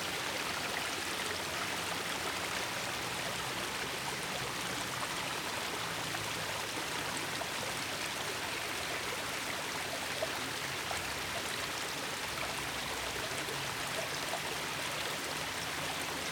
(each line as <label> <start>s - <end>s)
Small stream 0.0s - 16.3s